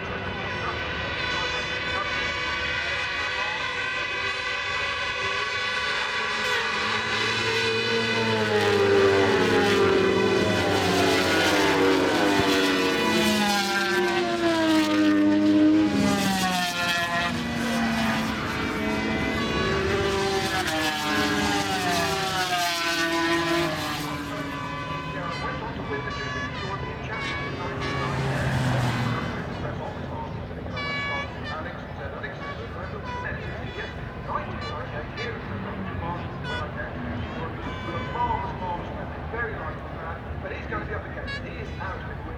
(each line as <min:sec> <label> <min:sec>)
0:00.0 500 cc motorcycle race 0:42.3